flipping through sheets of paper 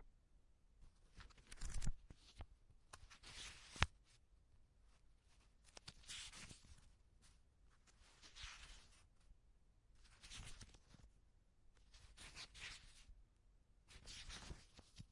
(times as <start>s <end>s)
1.0s 4.1s, 5.3s 9.1s, 10.0s 11.1s, 11.8s 13.1s, 13.9s 15.1s